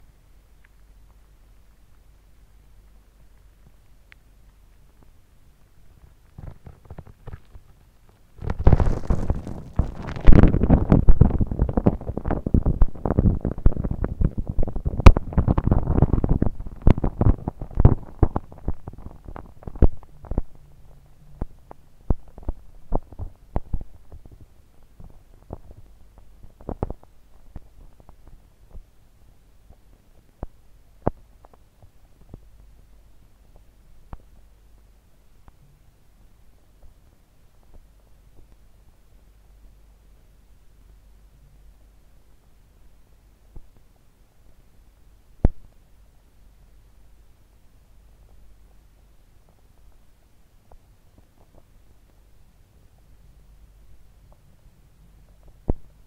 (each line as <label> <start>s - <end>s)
interference 5.8s - 28.9s